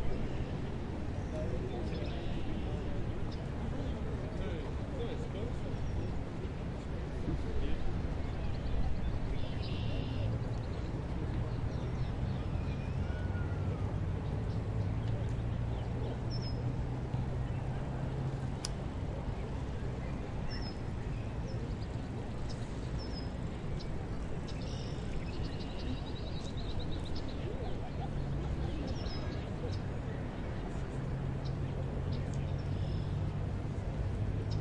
birds 0:19.2 - 0:33.4
cars 0:26.6 - 0:34.6

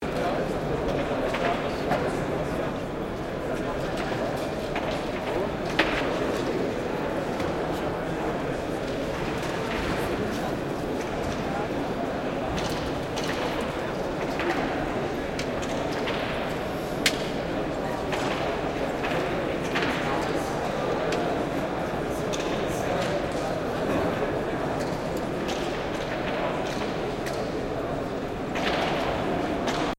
occasional construction noise 0:00.0 - 0:29.9

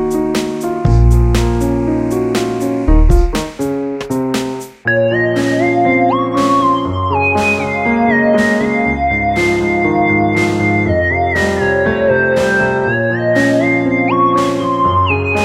bass 0:00.0 - 0:03.7
drum 0:00.0 - 0:04.8
piano 0:00.0 - 0:15.4
synthesizer 0:00.0 - 0:15.4
bass 0:04.9 - 0:15.4
drum 0:11.4 - 0:12.8

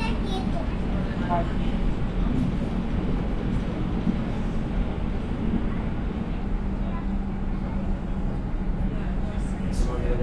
Train 0:00.0 - 0:10.2

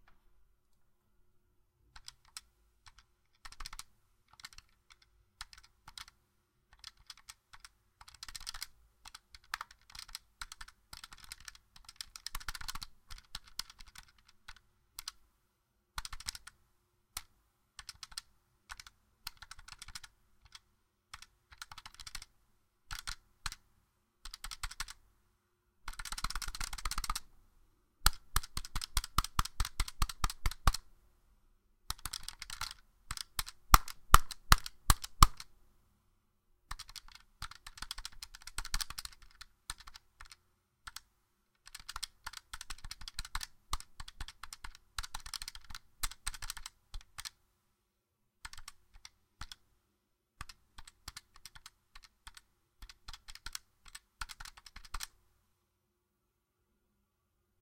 Controller Button Mashing 0:31.9 - 0:35.5

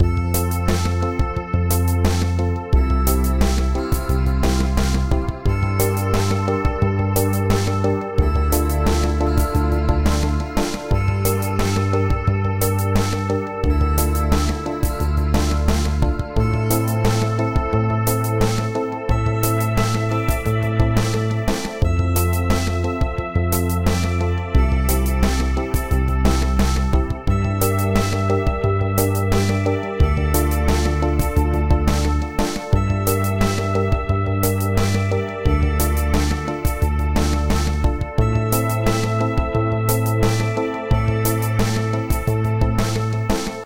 bass 0:00.0 - 0:43.6
guitar 0:00.0 - 0:43.6
rhythm 0:00.0 - 0:43.6

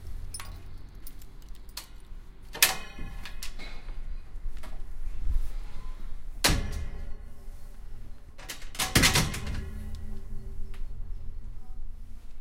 metal door 0:01.7 - 0:03.9
metal door 0:06.4 - 0:07.4
metal door 0:08.4 - 0:10.2

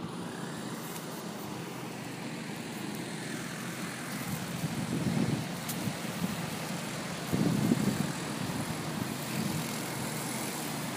traffic 0:00.0 - 0:10.9

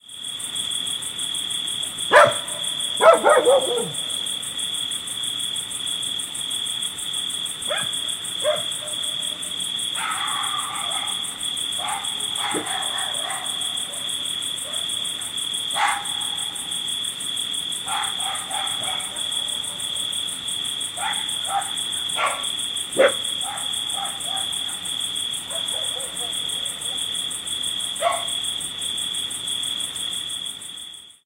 Crickets in background 0:00.0 - 0:31.2
Medium-sized dogs barking from various distances 0:01.9 - 0:04.7
Medium-sized dogs barking from various distances 0:07.6 - 0:28.7

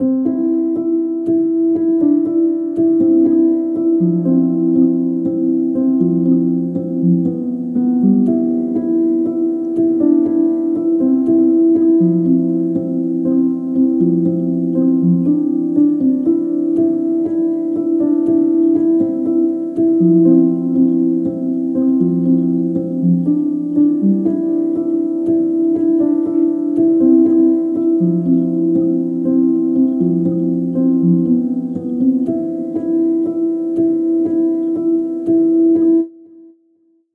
piano 0:00.0 - 0:36.6

